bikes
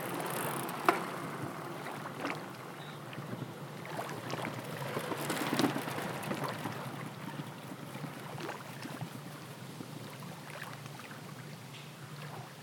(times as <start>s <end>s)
0.0s 10.0s